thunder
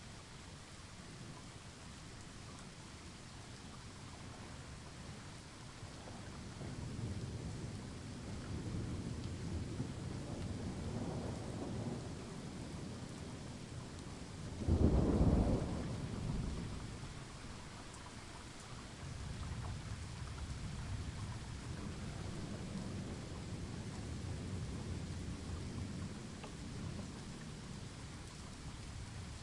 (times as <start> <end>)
6.0 13.5, 14.6 17.0